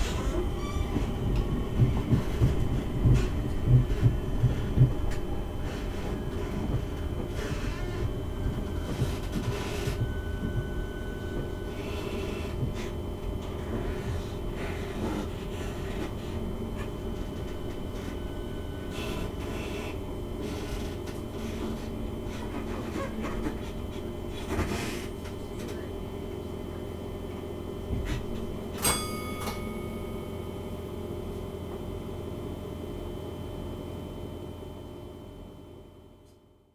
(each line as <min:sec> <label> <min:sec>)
0:00.0 Creaky train 0:26.0
0:27.9 Creaky train 0:30.5